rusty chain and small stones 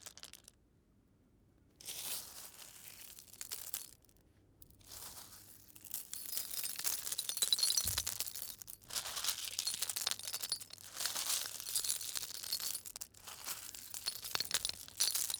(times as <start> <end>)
4.9 15.3